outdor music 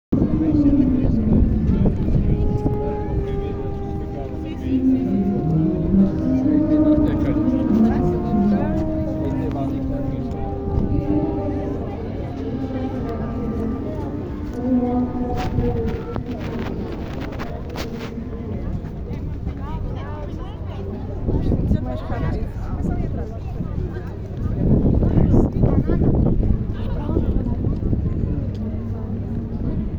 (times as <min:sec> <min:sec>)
0:00.2 0:18.3